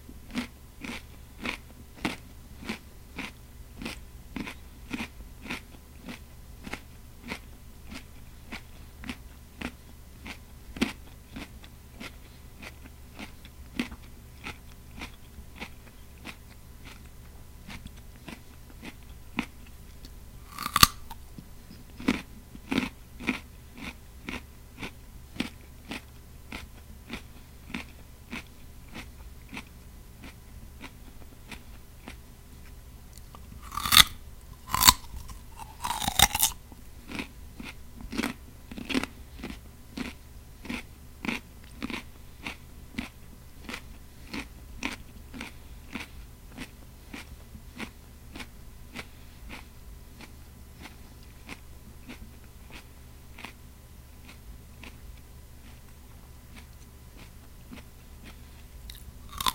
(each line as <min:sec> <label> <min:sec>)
0:00.3 eats a delicious, sweet and crisp carrot 0:59.5
0:17.7 bite off a piece of carrot 0:21.2
0:33.2 bite off a piece of carrot 0:53.6
0:56.5 bite off a piece of carrot 0:59.5